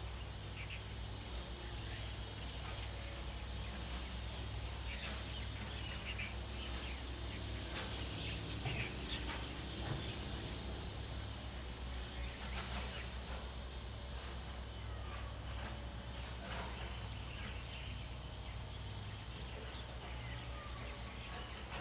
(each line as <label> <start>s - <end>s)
Birds singing 14.6s - 21.8s